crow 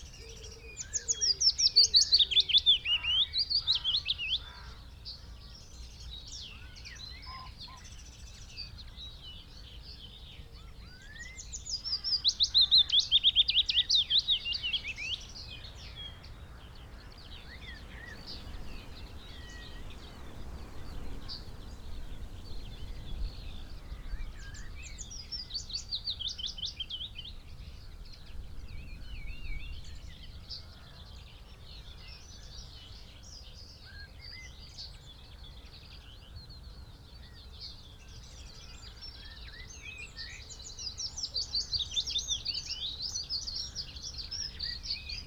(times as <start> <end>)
2.9 5.3, 7.1 8.0